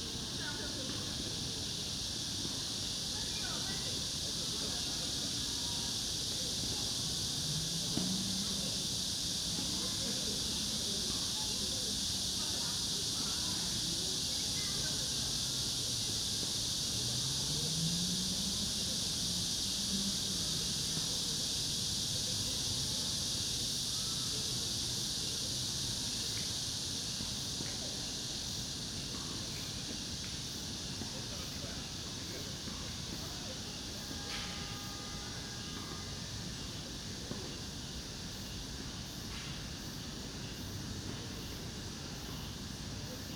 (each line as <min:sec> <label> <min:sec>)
0:00.0 Cicada 0:43.3